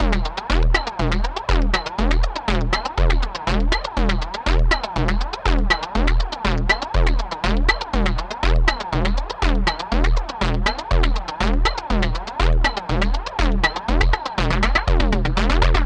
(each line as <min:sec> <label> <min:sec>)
0:00.0 Percussion 0:15.8